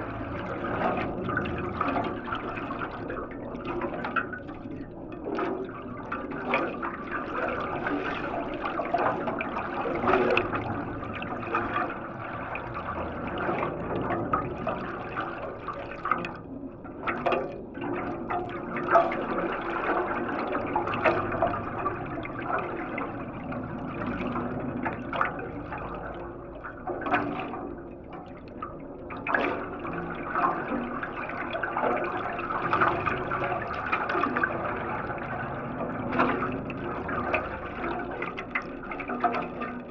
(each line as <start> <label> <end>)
0.0 wastewater flow in tube 39.9